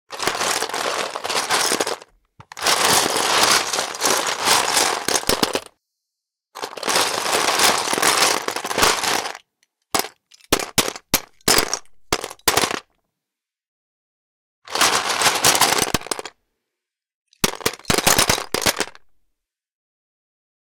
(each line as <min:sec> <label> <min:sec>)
0:00.1 Searching LEGO bricks in a box 0:05.8
0:06.6 Searching LEGO bricks in a box 0:12.9
0:14.7 Searching LEGO bricks in a box 0:16.4
0:17.4 Searching LEGO bricks in a box 0:19.2